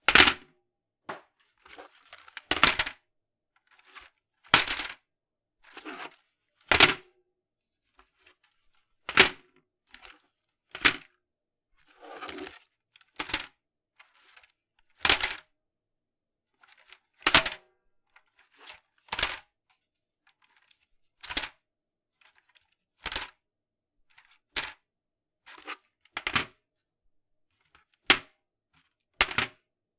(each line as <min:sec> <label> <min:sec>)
0:01.1 dropping a keyboard on a countertop 0:01.3